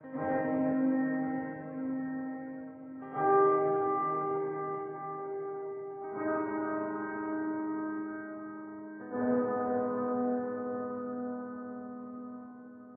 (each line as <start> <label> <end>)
0.0 ghost piano 12.9